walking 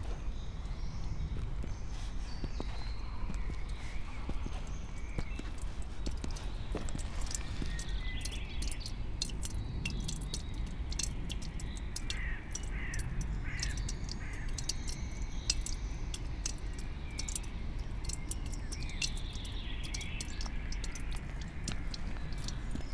0.0s 8.8s, 20.0s 22.9s

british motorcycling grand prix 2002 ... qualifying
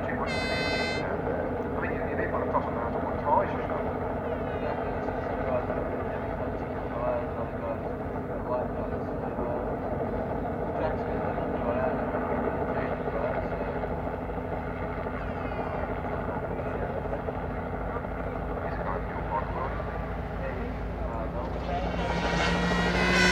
0.1s 1.0s, 19.0s 23.3s

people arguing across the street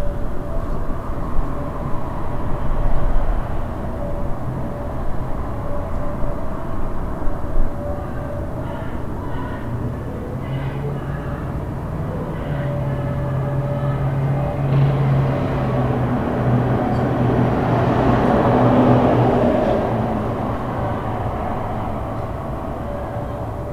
7.8s 16.0s

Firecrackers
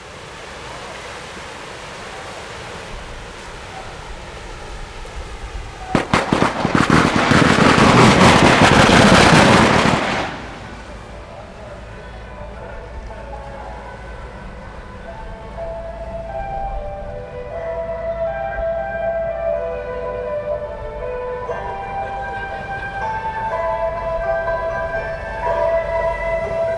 5.5s 13.2s

